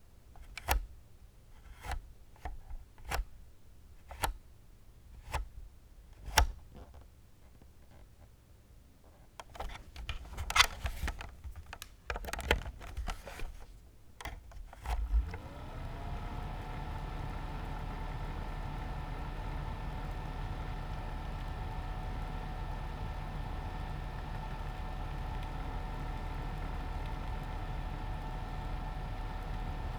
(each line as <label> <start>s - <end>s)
Tower fan for laptop 9.4s - 29.9s